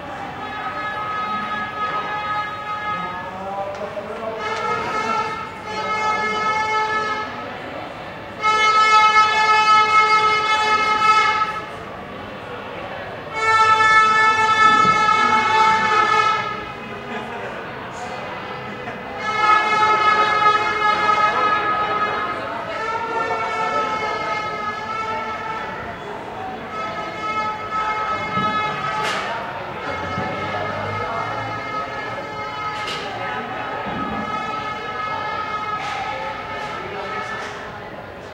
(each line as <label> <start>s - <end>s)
people celebrating 0.0s - 37.7s